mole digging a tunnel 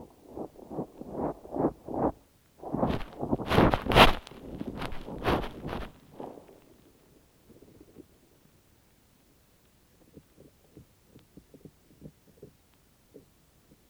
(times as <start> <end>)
0.0 6.7